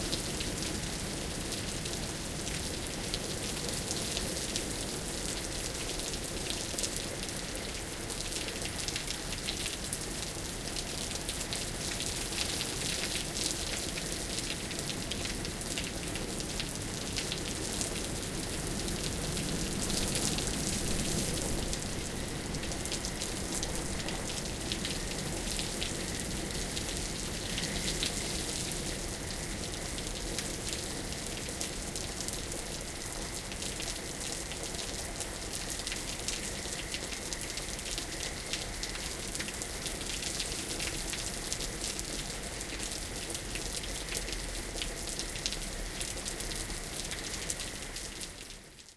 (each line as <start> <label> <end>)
0.0 rain 48.9
16.8 frogs in the pond 48.8
18.4 wind blows 29.6